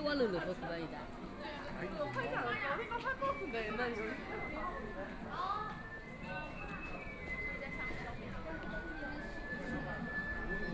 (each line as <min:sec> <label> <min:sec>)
0:07.0 Very large number of tourists 0:10.7